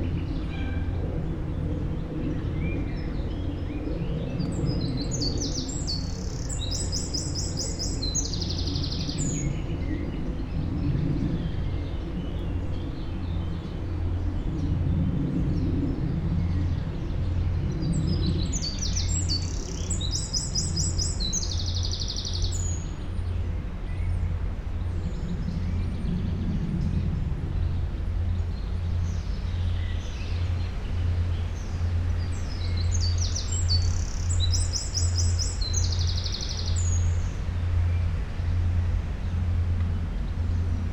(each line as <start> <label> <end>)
0.0 wind in tree crowns 40.9